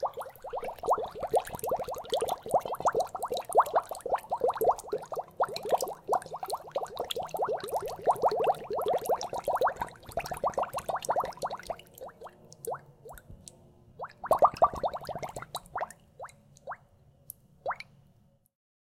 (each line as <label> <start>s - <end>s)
smaller and continuous bubbles 0.0s - 16.9s
smaller and continuous bubbles 17.6s - 18.0s